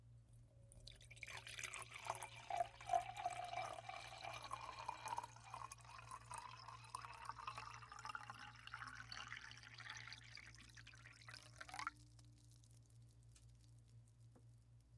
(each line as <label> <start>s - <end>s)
Continuous pour into empty glass 0.8s - 12.2s